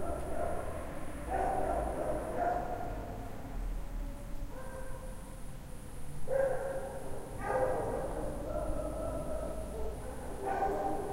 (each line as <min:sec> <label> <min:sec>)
0:00.0 stray dogs 0:03.1
0:04.5 stray dogs 0:05.2
0:06.3 stray dogs 0:11.1